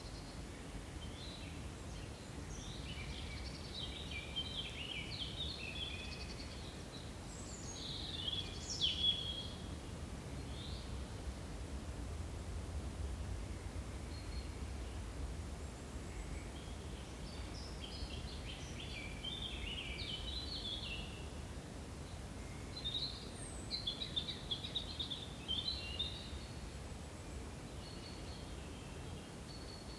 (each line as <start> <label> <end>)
0.0 small breeze 29.9